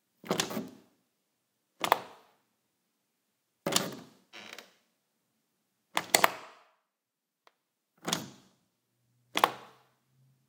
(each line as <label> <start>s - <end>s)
turn doorknob with latch 0.2s - 0.8s
turn doorknob with latch 3.7s - 4.2s
turn doorknob with latch 8.0s - 8.5s